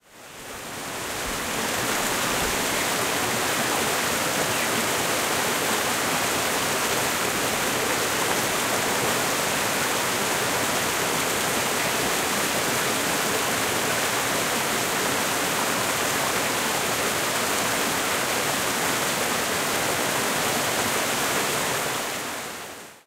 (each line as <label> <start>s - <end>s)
water flowing through some rapids in a creek 0.0s - 23.0s